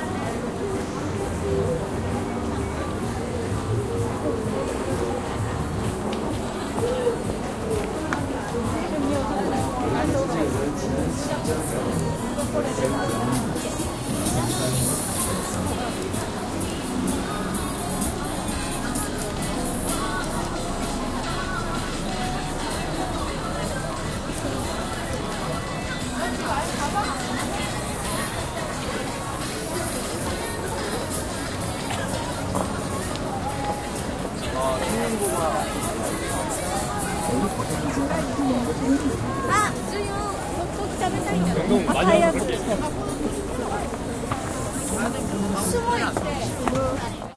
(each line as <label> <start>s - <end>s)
People in a shopping street 0.0s - 47.3s
steps 43.1s - 47.3s